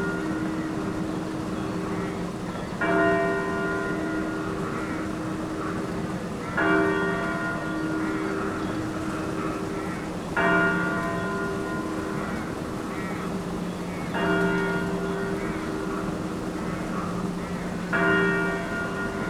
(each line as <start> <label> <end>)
0.0 funeral bells of local church 19.2
4.6 crows 6.7
12.0 crows 14.2